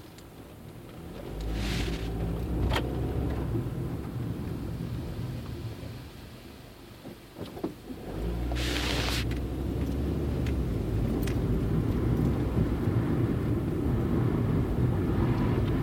0.0s Car ride 15.8s

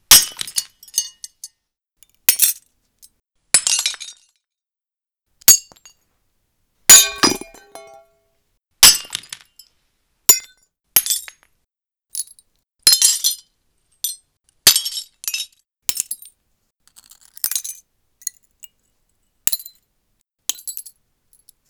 6.9s crushing shards with pliers 8.0s
6.9s dropping shards onto the floor 8.0s
6.9s glass shattering 8.0s
7.0s dropping a screwdriver onto the pile 8.0s

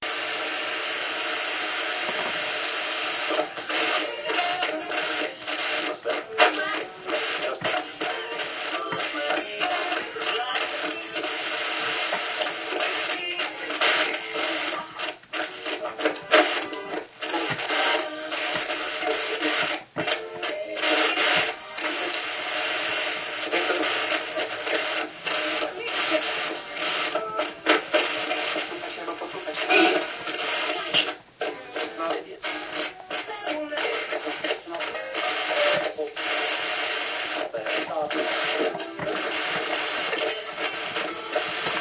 0.0s Tunning Radio 41.8s
23.4s voices 41.8s

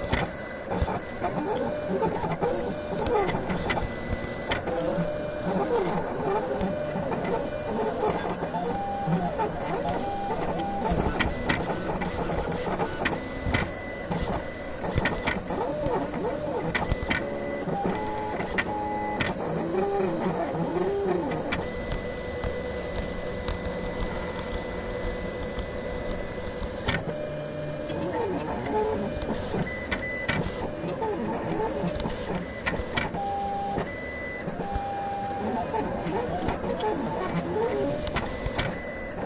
0.0s operating vinyl plotter, with bits of arpeggio-like sequences 39.2s

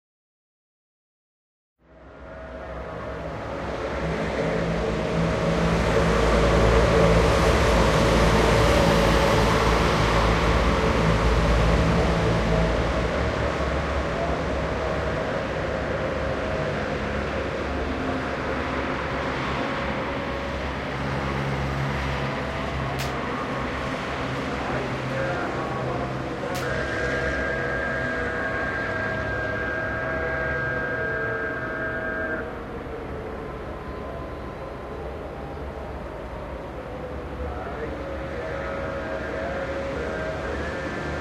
1.8s slowly passing cars 41.2s
22.9s call to prayer 32.7s
36.8s call to prayer 41.2s

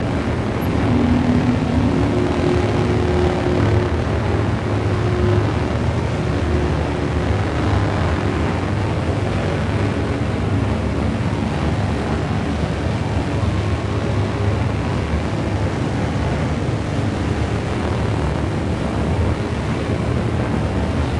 0.0s Granular drone with mid-range noise and low fundamental 21.1s

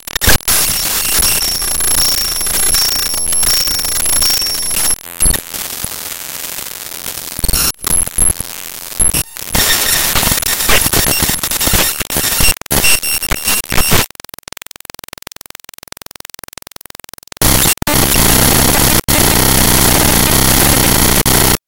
0.0s glitches 21.6s

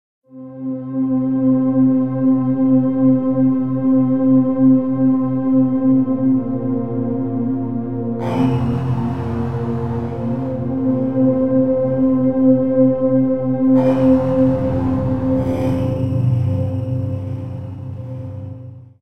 8.0s Smooth, flowing synth pad sound 19.0s

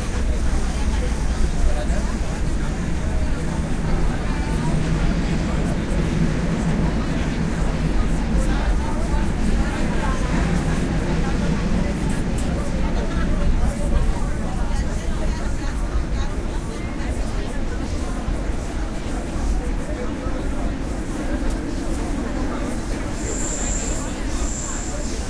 0.0s big crowd of people 25.2s
0.0s metro train 25.2s

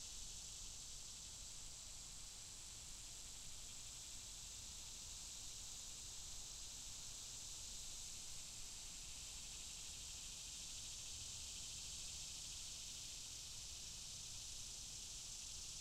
0.0s cicadas 15.8s

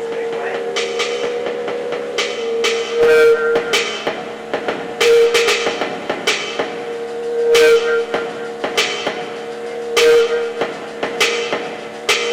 0.0s beat 12.3s
0.0s synth 12.3s

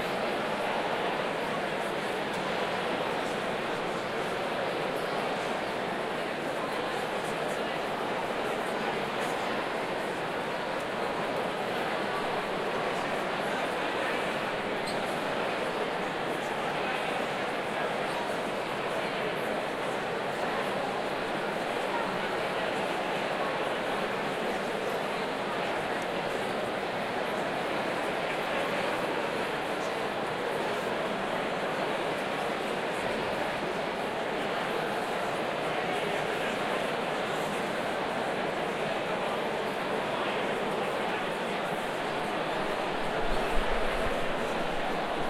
0.0s Large crowd 45.2s

